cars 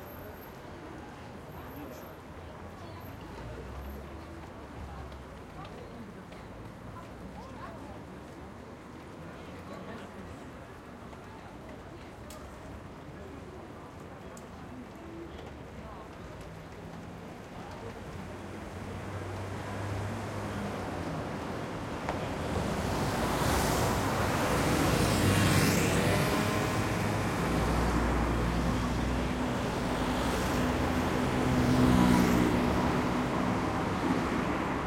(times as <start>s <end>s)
16.3s 34.8s